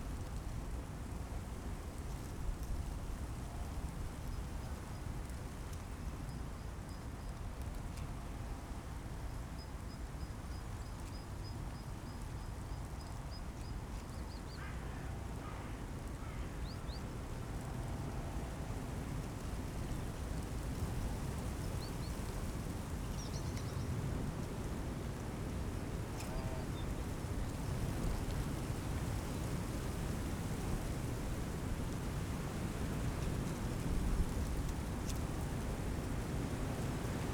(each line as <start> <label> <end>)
16.0 poplars, gusts of wind 37.3